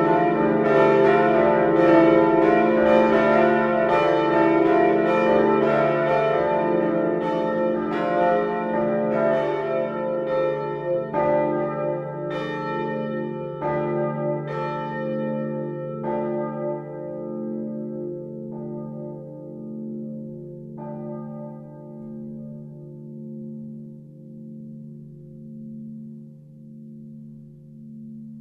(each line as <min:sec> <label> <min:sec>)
0:00.0 Manual ringing of the three bells 0:28.4